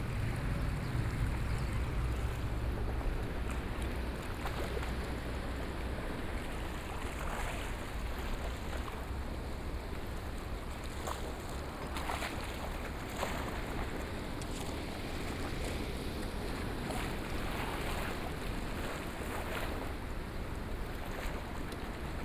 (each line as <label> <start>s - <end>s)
Sound of the waves 0.0s - 22.2s